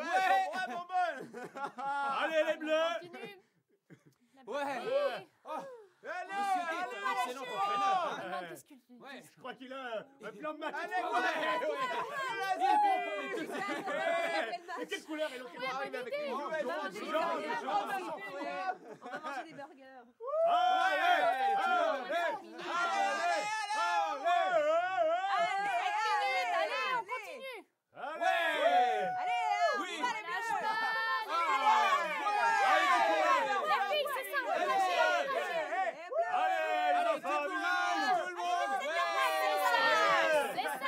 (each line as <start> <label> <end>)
0.0 crowd cheering at a sporting event 3.1
4.8 crowd cheering at a sporting event 8.3
10.6 crowd cheering at a sporting event 19.5
20.2 crowd cheering at a sporting event 40.8